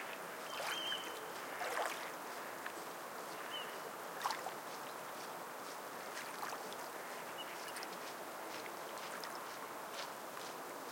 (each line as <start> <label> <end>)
0.0 ducks in the water 4.6
0.0 waves 10.9